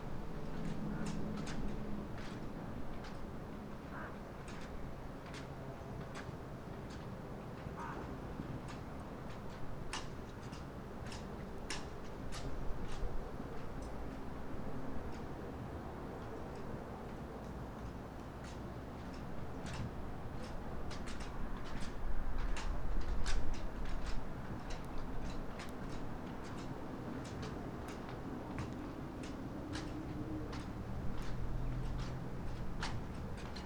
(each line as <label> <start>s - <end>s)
flagsticks in the wind 0.0s - 33.6s